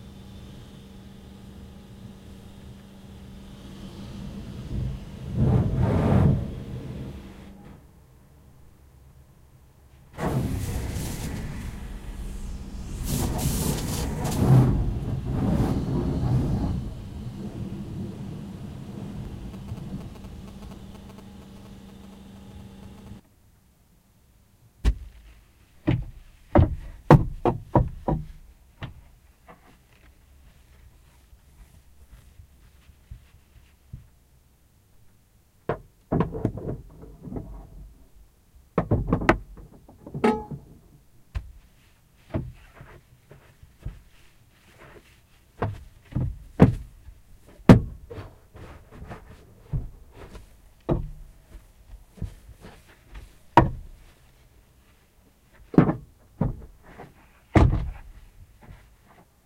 cleaning the truck using karcher 0:10.2 - 0:23.2

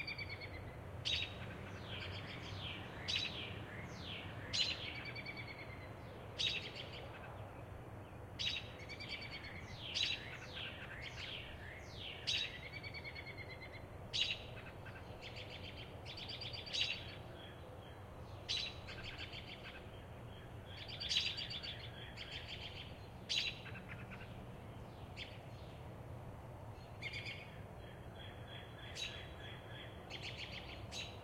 American Robins (Turdus Migratorious) who are busy vocalizing 0:00.0 - 0:31.2

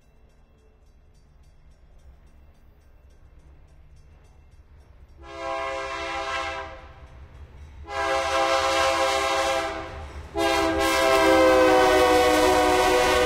long freight train 0:00.0 - 0:13.2
airhorn 0:05.2 - 0:06.8
airhorn 0:07.9 - 0:13.2

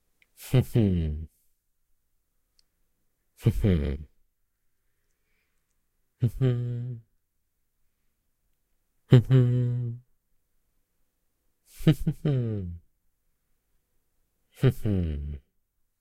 Voice Man mmh proud closed-mouth 0:00.4 - 0:01.3
Voice Man mmh proud closed-mouth 0:06.2 - 0:07.1
Voice Man mmh proud closed-mouth 0:09.1 - 0:10.0
Voice Man mmh proud closed-mouth 0:14.6 - 0:15.5

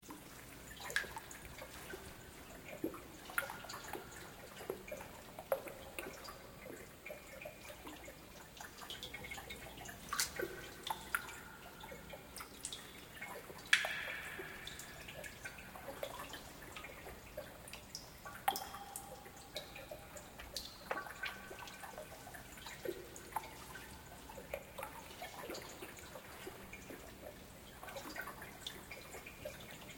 Water Drip 0:00.1 - 0:29.9

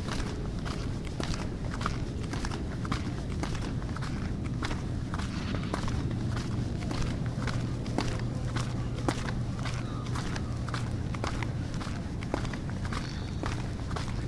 birds 0:08.0 - 0:14.2

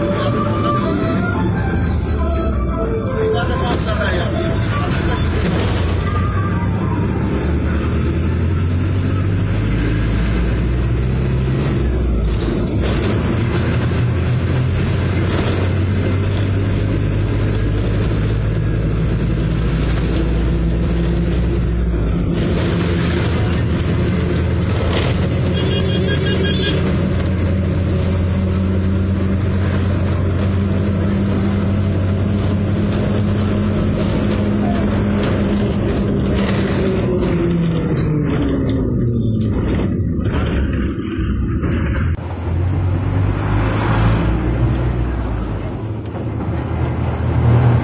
bus 0:00.0 - 0:47.8
traffic 0:00.0 - 0:47.8

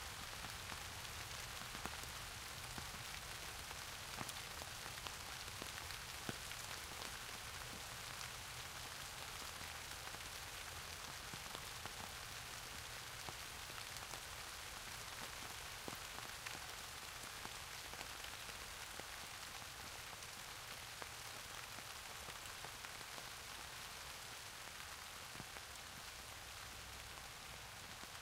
rain 0:00.0 - 0:28.2

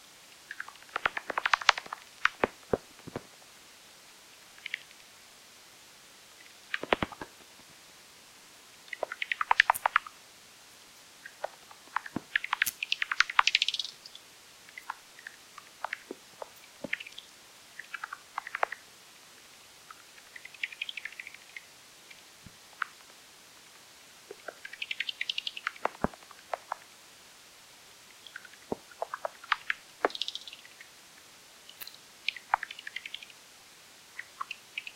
Bats 0:00.4 - 0:03.3
Bats 0:06.4 - 0:07.4
Bats 0:08.9 - 0:10.2
Bats 0:11.2 - 0:18.8
Bats 0:28.2 - 0:30.9

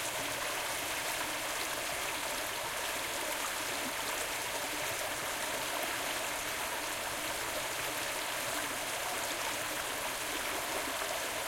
small stream running 0:00.0 - 0:11.4

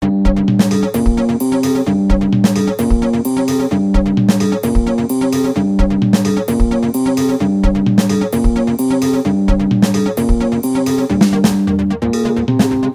electronic music 0:00.0 - 0:12.9

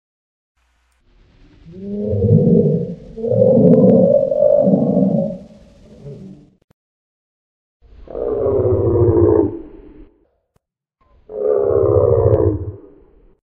Stegosaurus calls 0:01.6 - 0:06.6

